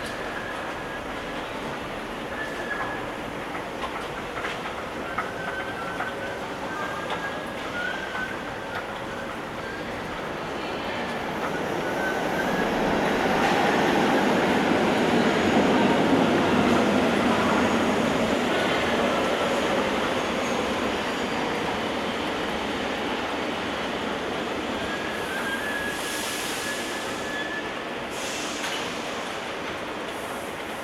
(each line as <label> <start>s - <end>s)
screaming escalator 4.7s - 10.2s